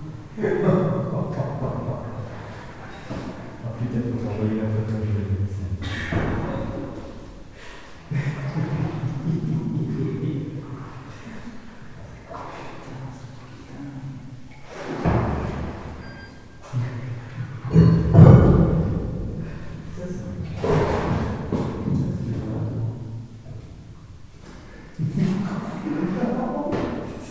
0.0s Using a boat in a flooded underground mine 27.3s

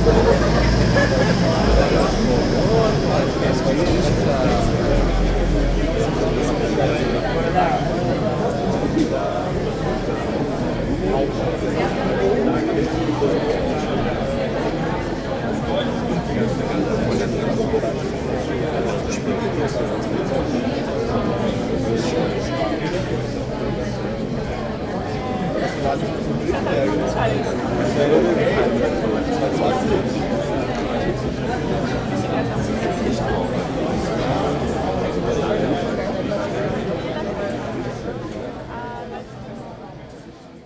0.0s people talking 40.6s

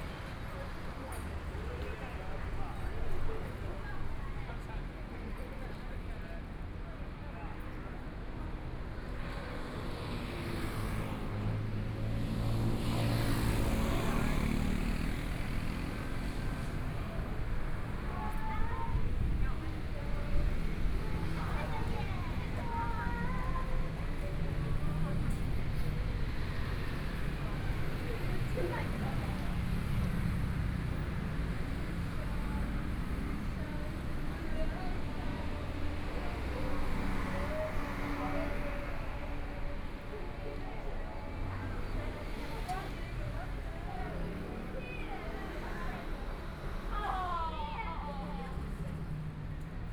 9.6s Traffic Sound 49.9s

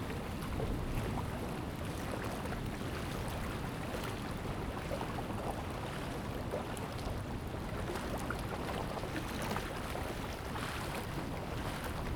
8.8s waves 12.1s

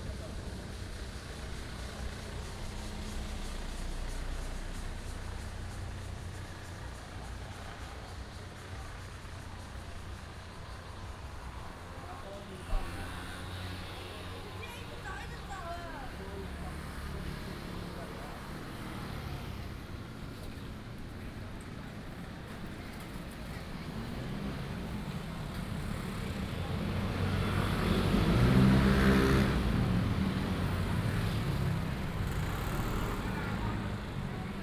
0.0s Traffic Sound 34.6s
0.0s Walking on the road 34.6s
23.4s Cicada sounds 34.6s

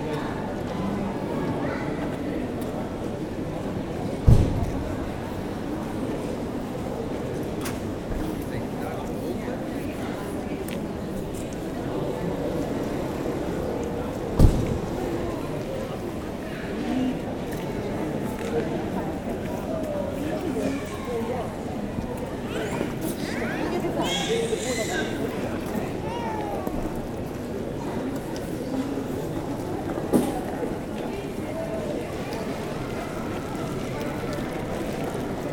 0.0s touristic group is guided 35.5s

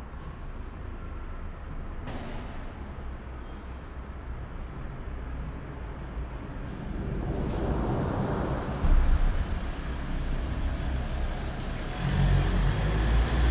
2.1s cars 13.5s

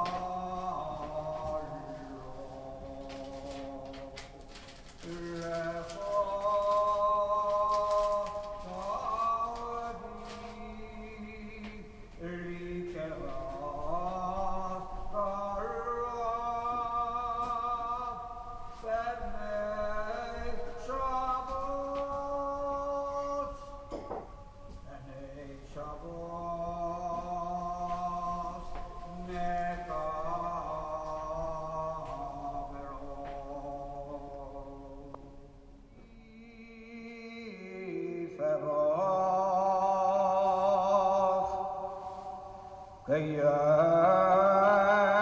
0.0s Cantor 45.2s

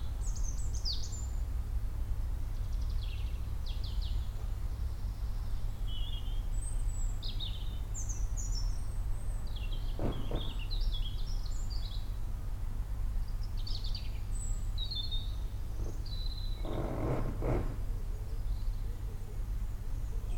0.0s traffic 20.3s
2.5s many other birds 12.2s
9.8s Woodpecker 10.9s
9.9s occasional cyclist or walker 10.7s
13.3s many other birds 20.3s
15.8s Woodpecker 17.9s
16.6s occasional cyclist or walker 18.0s

